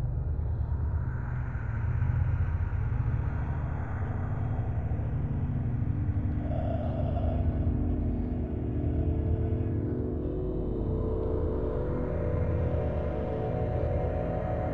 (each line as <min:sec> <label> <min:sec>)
0:00.0 ambient noise 0:14.7